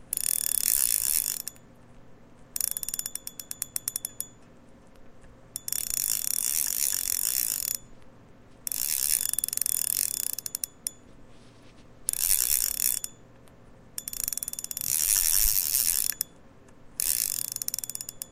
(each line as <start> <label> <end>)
0.1 Whirr of a fishing reel 1.6
2.6 Whirr of a fishing reel 4.4
2.6 click 6.2
5.5 Whirr of a fishing reel 7.8
8.6 Whirr of a fishing reel 11.0
12.1 Whirr of a fishing reel 13.2
12.1 click 18.3
14.0 Whirr of a fishing reel 16.3
17.0 Whirr of a fishing reel 18.3